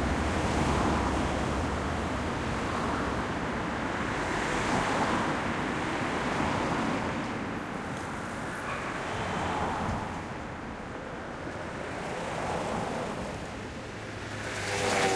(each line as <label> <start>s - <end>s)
traffic 0.0s - 15.1s